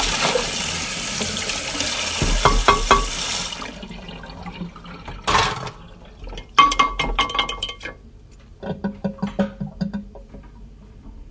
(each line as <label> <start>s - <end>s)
wash the dishes with water 0.0s - 8.0s